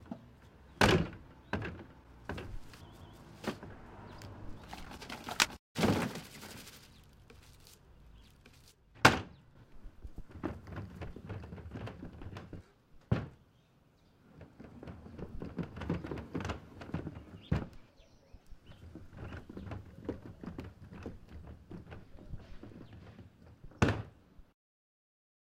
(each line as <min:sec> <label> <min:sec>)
0:04.6 Throwing trash away 0:09.4
0:10.1 Big trash bin being pulled 0:12.6
0:14.2 Big trash bin being pulled 0:17.8